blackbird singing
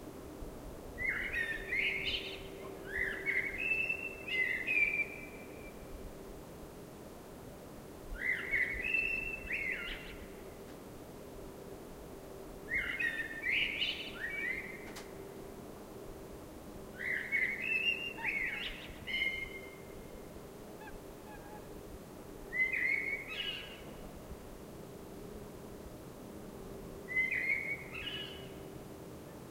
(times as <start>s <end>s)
1.0s 5.8s, 8.2s 10.2s, 12.7s 14.9s, 17.0s 19.9s, 22.5s 23.9s, 27.1s 28.6s